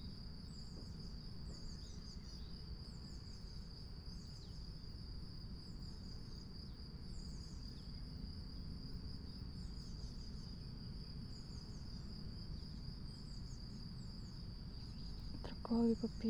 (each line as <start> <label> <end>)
0.0 crickets 16.2
15.4 spoken words 16.2